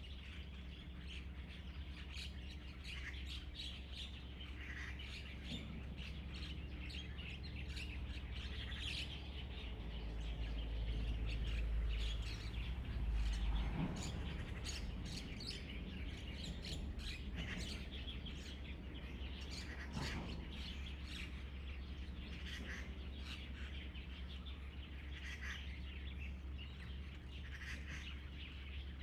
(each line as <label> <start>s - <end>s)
Birdsong 0.0s - 29.0s
Traffic Sound 4.4s - 29.0s